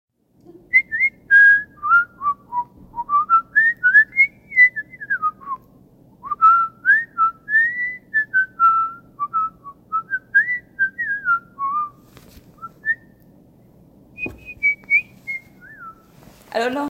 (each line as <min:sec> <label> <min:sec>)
0:00.7 whistling 0:12.0
0:12.6 whistling 0:13.3
0:14.1 whistling 0:16.2